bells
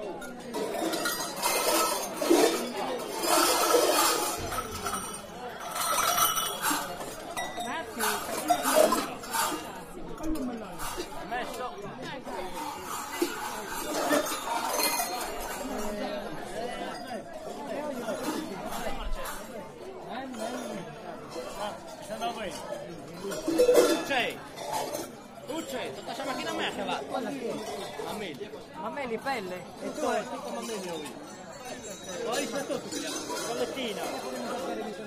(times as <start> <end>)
0.0 9.5, 12.6 16.0, 29.8 35.0